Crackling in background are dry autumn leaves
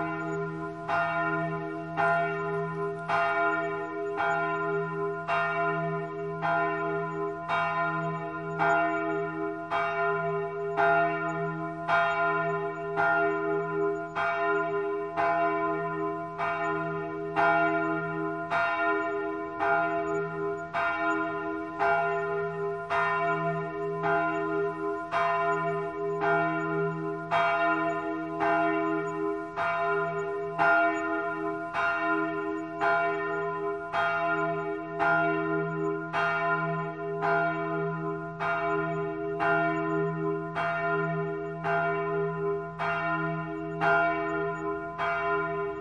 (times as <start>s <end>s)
0.0s 5.2s, 17.9s 33.8s